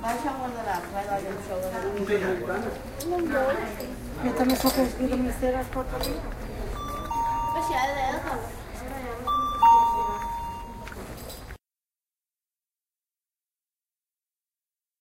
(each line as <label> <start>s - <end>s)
People talking 0.0s - 11.2s
shop bell 6.7s - 8.5s
shop bell 9.1s - 11.3s